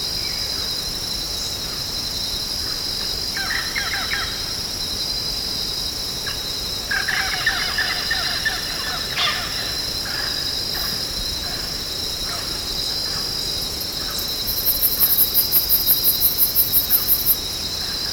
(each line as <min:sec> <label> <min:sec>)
0:06.3 Noisy birds 0:18.1